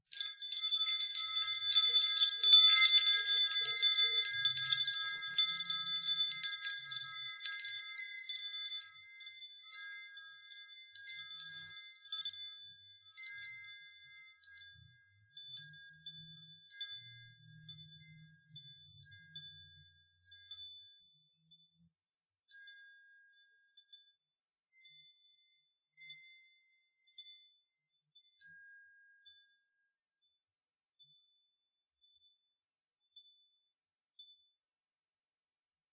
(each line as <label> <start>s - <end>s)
Chimes made of glass 0.0s - 34.6s